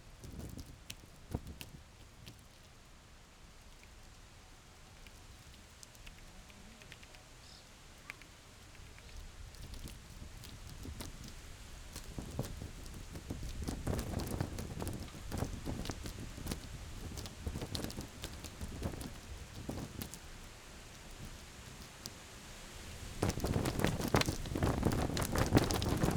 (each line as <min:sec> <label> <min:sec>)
0:23.2 fluttering barrier tape 0:26.1